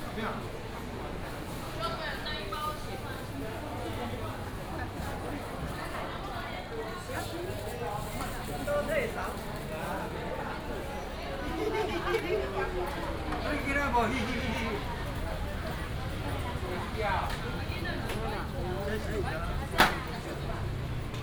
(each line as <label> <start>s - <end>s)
Traffic sound 10.9s - 21.2s